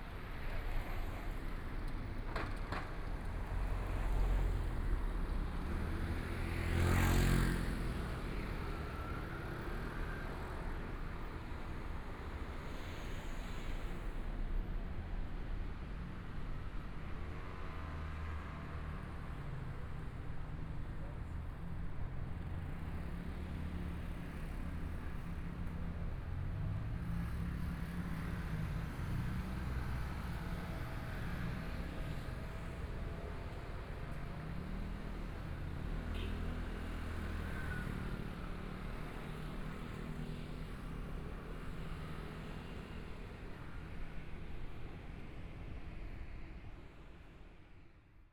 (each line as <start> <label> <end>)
17.8 Traffic Sound 47.6